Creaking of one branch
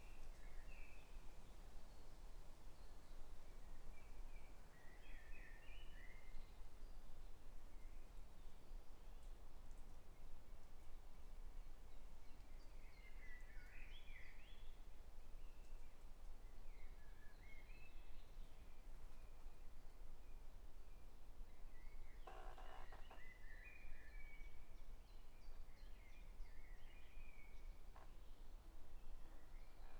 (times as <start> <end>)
22.2 23.2